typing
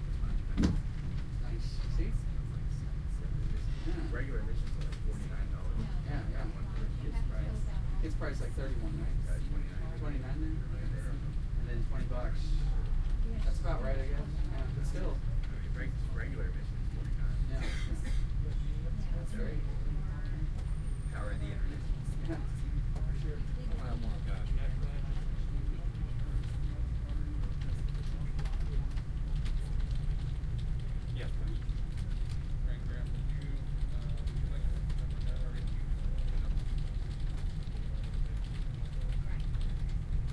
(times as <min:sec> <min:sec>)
0:26.4 0:40.3